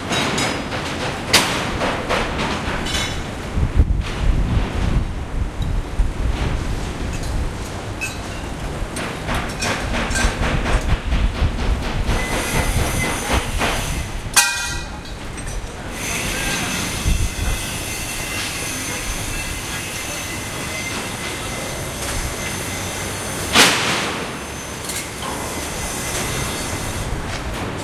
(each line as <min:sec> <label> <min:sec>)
0:00.0 machine 0:27.8
0:12.1 saw 0:14.2
0:14.4 clang 0:15.0
0:15.9 saw 0:27.5